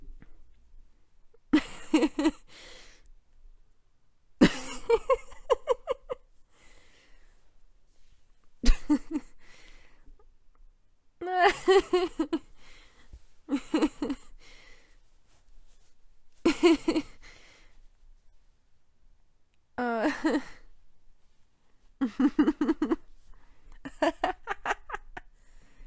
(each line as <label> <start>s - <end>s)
Girl soft laughing 4.4s - 6.3s
Girl soft laughing 11.2s - 12.6s
Girl soft laughing 13.5s - 14.4s
Girl soft laughing 19.8s - 20.7s
Girl soft laughing 22.0s - 23.1s
Girl soft laughing 23.8s - 25.3s